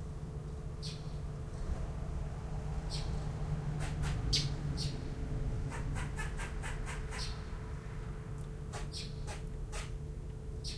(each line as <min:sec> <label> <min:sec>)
0:00.8 birds 0:01.7
0:00.8 Squirrels 0:01.2
0:02.8 birds 0:07.6
0:03.8 Squirrels 0:05.0
0:05.7 Squirrels 0:07.5
0:08.6 lizards 0:10.0
0:08.7 Squirrels 0:10.0
0:08.7 birds 0:10.7